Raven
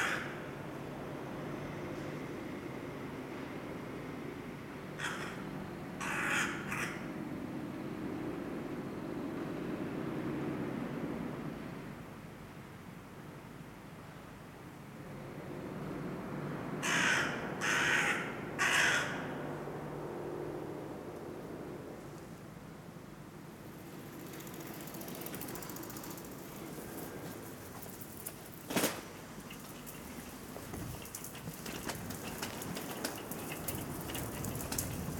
16.8s 19.7s

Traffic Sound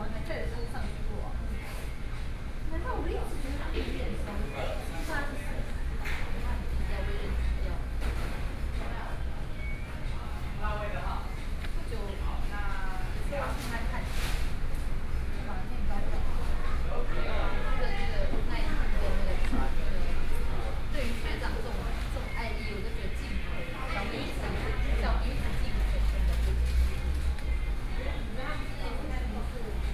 24.3s 28.7s

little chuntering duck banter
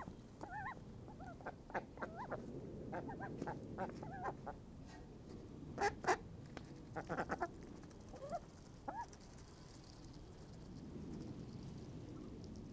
0.0s 4.6s, 6.8s 11.2s

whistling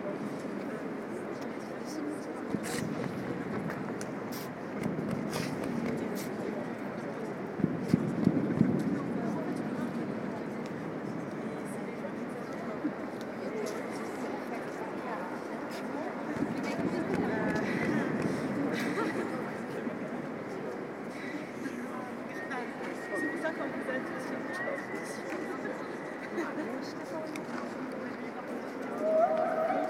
22.3s 25.7s

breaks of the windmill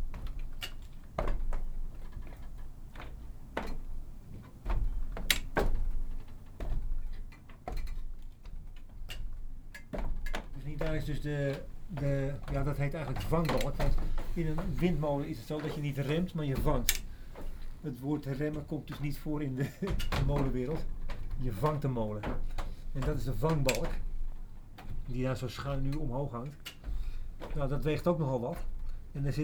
0.0s 8.1s, 10.2s 19.1s

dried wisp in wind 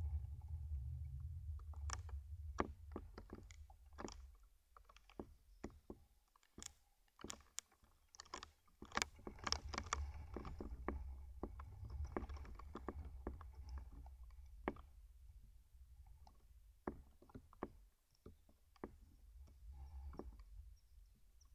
0.0s 4.4s

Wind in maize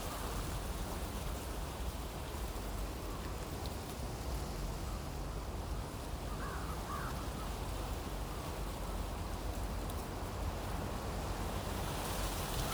12.4s 12.7s

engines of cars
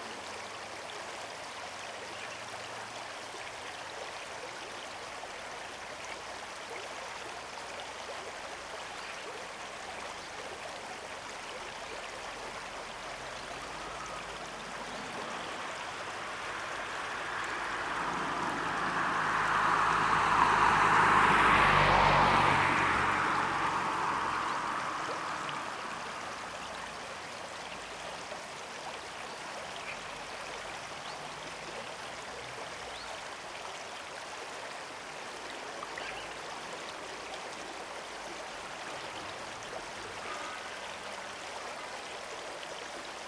13.0s 27.3s

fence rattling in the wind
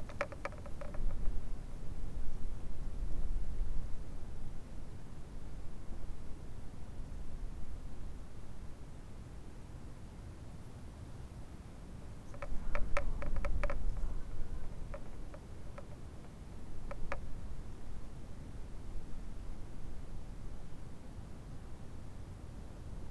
0.0s 2.4s, 12.1s 17.6s

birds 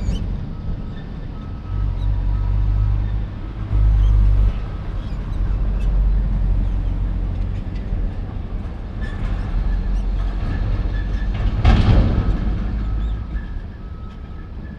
0.0s 8.2s, 12.4s 13.6s

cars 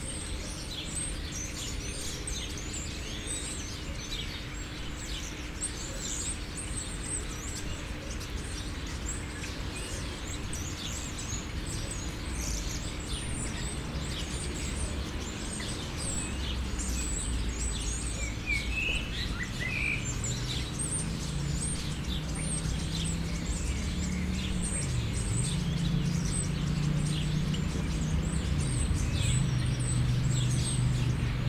10.1s 31.4s

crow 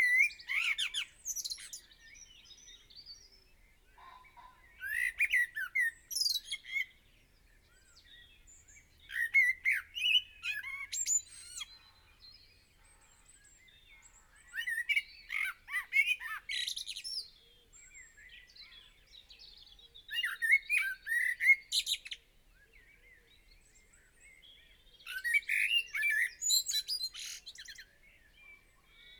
4.0s 5.7s, 10.4s 17.2s

